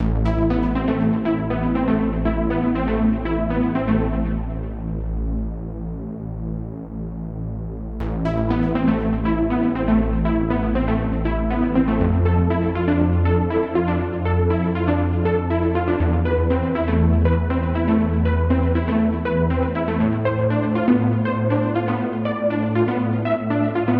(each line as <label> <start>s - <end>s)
electro bass-lead 0.0s - 23.9s